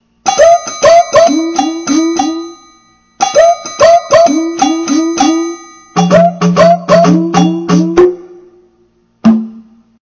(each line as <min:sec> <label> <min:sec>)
0:03.2 DrumsRobo 0:08.4
0:09.2 DrumsRobo 0:09.9